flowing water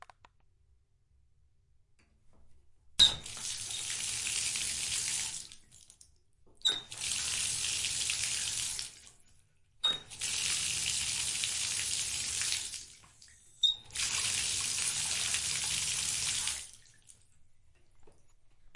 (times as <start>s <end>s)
9.9s 17.2s